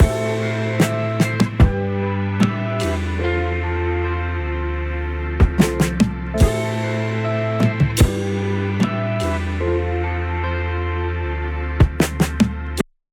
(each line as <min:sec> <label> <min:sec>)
0:00.0 beat 0:03.8
0:05.4 beat 0:10.3